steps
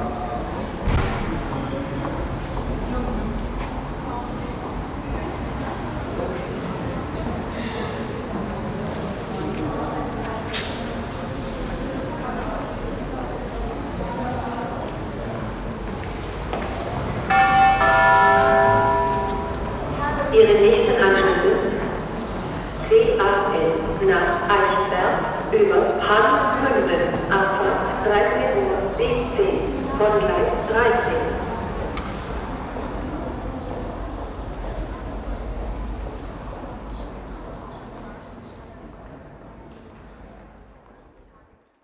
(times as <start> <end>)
17.6 19.8